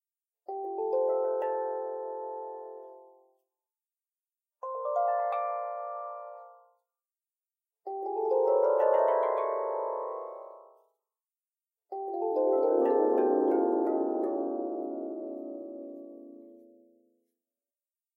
0.5s simple melodies recorded on my instrument 3.6s
4.6s simple melodies recorded on my instrument 6.9s
7.8s simple melodies recorded on my instrument 11.1s
11.9s simple melodies recorded on my instrument 17.3s

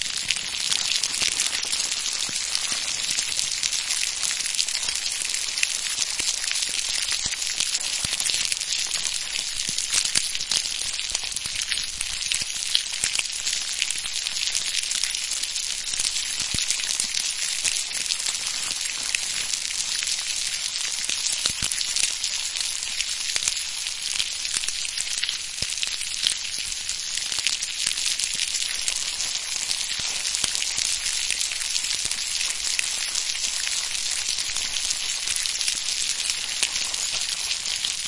0.0s fire burning/food frying 38.0s

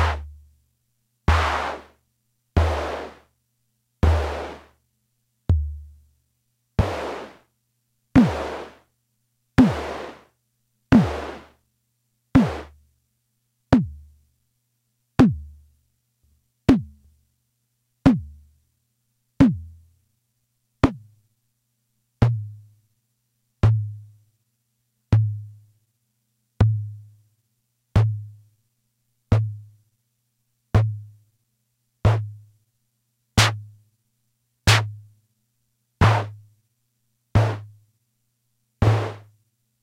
0.0s analog Drum Machine tom drum sounds 0.4s
1.3s analog Drum Machine tom drum sounds 2.0s
2.6s analog Drum Machine tom drum sounds 3.3s
4.0s analog Drum Machine tom drum sounds 4.7s
5.5s analog Drum Machine tom drum sounds 5.9s
6.8s analog Drum Machine tom drum sounds 7.4s
8.2s analog Drum Machine tom drum sounds 8.8s
9.6s analog Drum Machine tom drum sounds 10.3s
10.9s analog Drum Machine tom drum sounds 11.5s
12.4s analog Drum Machine tom drum sounds 12.8s
15.2s analog Drum Machine tom drum sounds 15.5s
16.7s analog Drum Machine tom drum sounds 17.0s
19.4s analog Drum Machine tom drum sounds 19.8s
33.4s analog Drum Machine tom drum sounds 33.6s
34.7s analog Drum Machine tom drum sounds 35.0s
36.0s analog Drum Machine tom drum sounds 36.4s
37.4s analog Drum Machine tom drum sounds 37.7s
38.8s analog Drum Machine tom drum sounds 39.3s

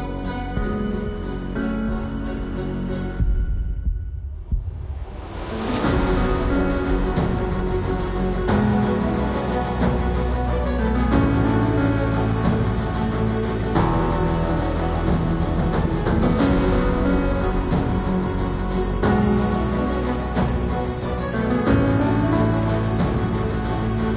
0.0s strings 3.8s
0.0s bass 24.1s
0.0s percussions 24.1s
0.0s piano 24.1s
4.7s strings 24.1s
5.8s brass 24.1s

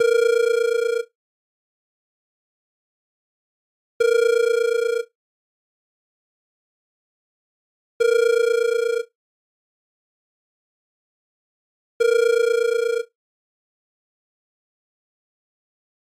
0.0s phone ring 1.1s
4.0s phone ring 5.1s
8.0s phone ring 9.1s
12.0s phone ring 13.1s

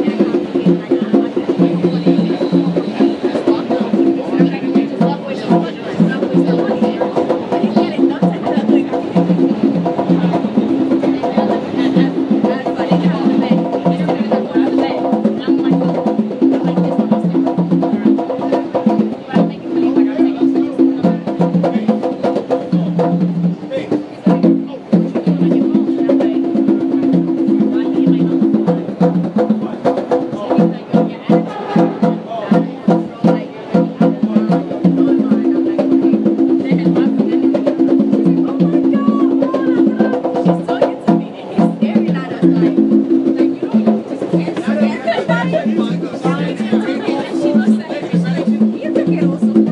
0.0s train 5.9s
0.0s people chatting in the background 49.7s
0.0s percussionists playing for money on the train 49.7s

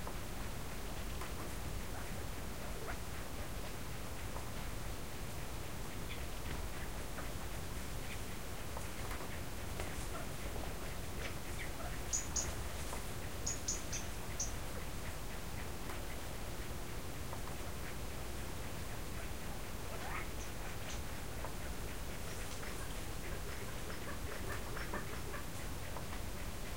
5.8s birds 16.3s
16.9s birds 26.7s

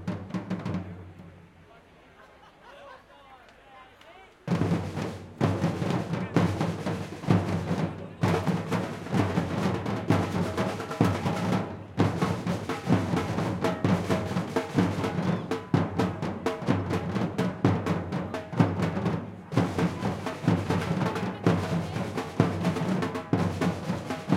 0.0s crowd people on background 24.3s

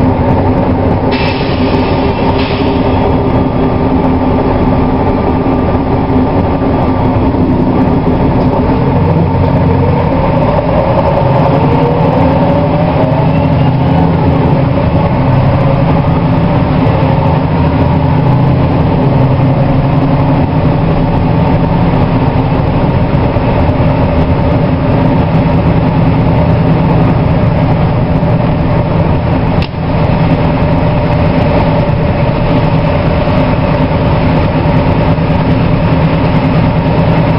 0.0s Bus In Motion 37.3s
0.0s Car 37.3s
0.0s Lorry 37.3s

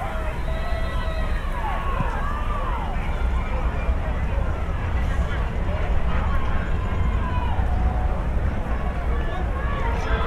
0.0s American football 5.0s
0.0s crowd 10.2s

